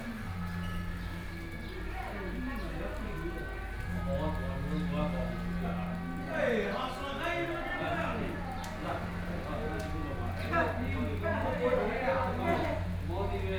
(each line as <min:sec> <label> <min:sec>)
0:00.0 Rainy Day 0:13.5
0:00.0 group of people chatting 0:13.5